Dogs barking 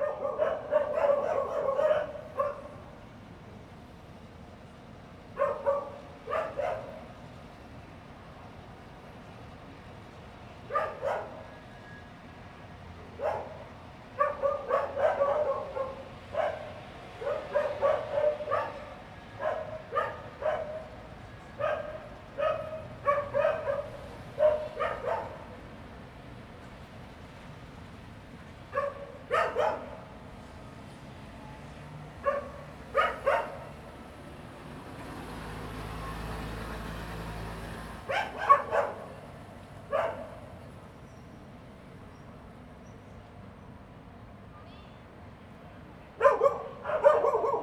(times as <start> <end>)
0.0 2.8, 5.4 7.1, 10.7 11.5, 13.2 25.6, 28.7 30.1, 32.2 33.8, 38.1 40.6, 46.2 47.6